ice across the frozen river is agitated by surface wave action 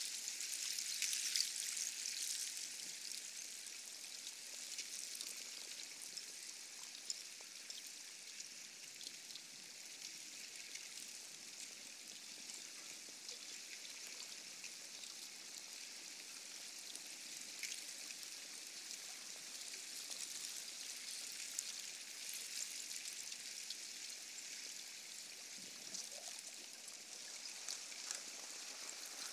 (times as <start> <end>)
27.4 29.3